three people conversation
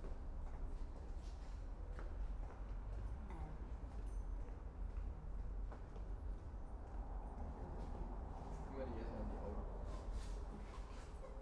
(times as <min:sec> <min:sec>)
0:07.6 0:11.0